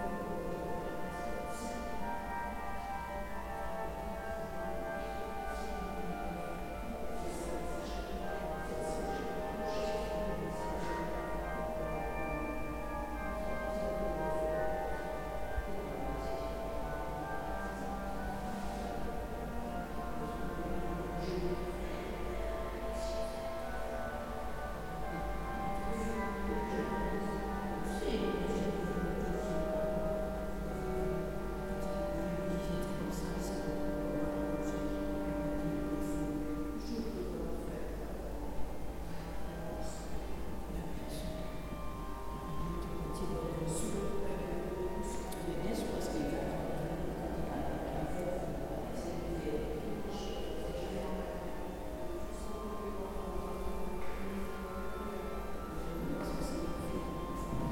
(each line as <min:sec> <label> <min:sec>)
0:00.0 voices moving in this vast, reverberant space 0:57.7